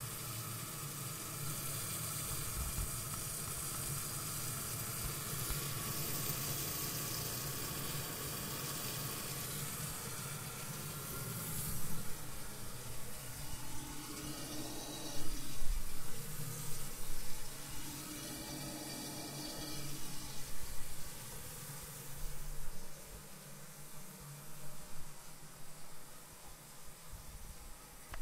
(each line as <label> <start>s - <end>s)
toilet after flushing 0.0s - 22.9s
pipes 0.0s - 25.8s